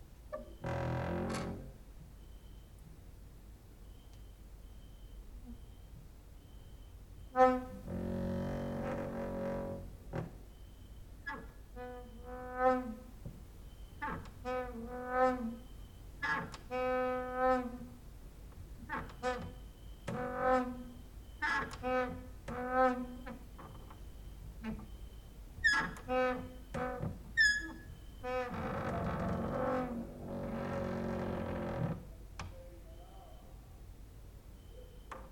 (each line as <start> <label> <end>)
0.3 creaking with wooden doors 1.8
7.2 creaking with wooden doors 18.0
18.8 creaking with wooden doors 32.6